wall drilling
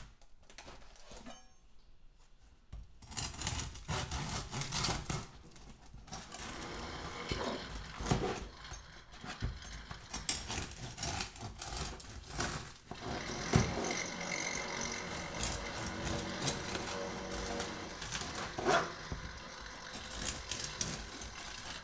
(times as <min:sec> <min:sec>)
0:06.2 0:11.4, 0:12.4 0:21.8